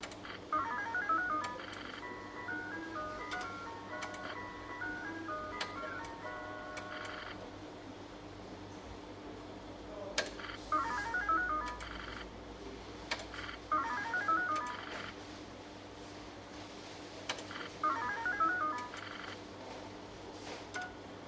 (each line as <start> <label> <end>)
0.2 video poker 7.5
10.3 video poker 12.4
13.2 video poker 15.2
17.2 video poker 19.5